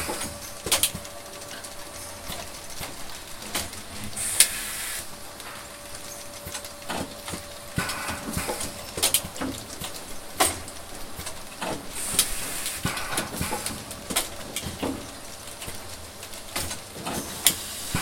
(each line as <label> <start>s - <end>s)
Small robot assembling parts made of aluminum and other metals 0.0s - 18.0s